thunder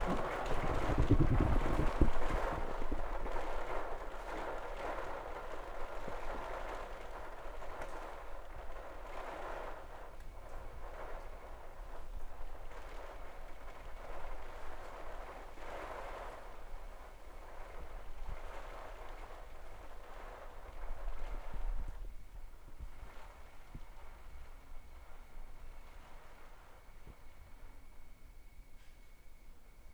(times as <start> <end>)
0.0 4.5